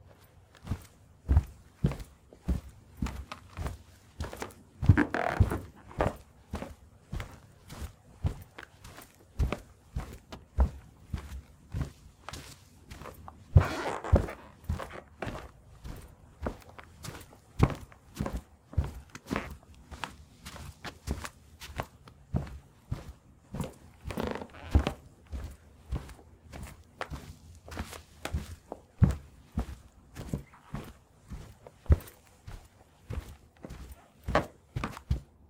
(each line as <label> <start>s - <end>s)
Footsteps Carpet 0.0s - 35.4s
floorboard squeaks 4.9s - 6.2s
floorboard squeaks 13.5s - 15.0s
floorboard squeaks 24.1s - 25.0s